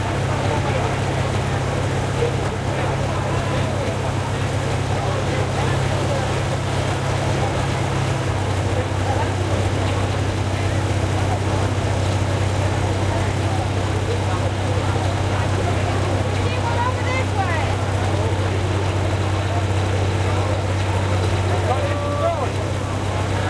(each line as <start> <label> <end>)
0.0 Tractor Pull 23.4